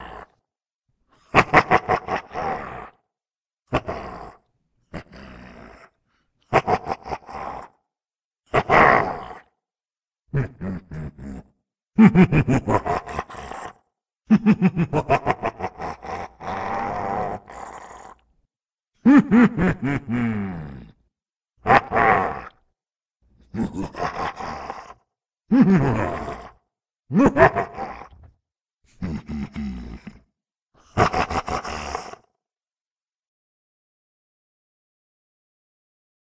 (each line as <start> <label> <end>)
0.0 Evil Laughs Demonic Echos 0.4
1.2 Evil Laughs Demonic Echos 3.0
3.7 Evil Laughs Demonic Echos 7.8
8.5 Evil Laughs Demonic Echos 9.5
10.3 Evil Laughs Demonic Echos 18.2
19.0 Evil Laughs Demonic Echos 21.0
21.6 Evil Laughs Demonic Echos 22.7
23.4 Evil Laughs Demonic Echos 28.3
28.9 Evil Laughs Demonic Echos 32.4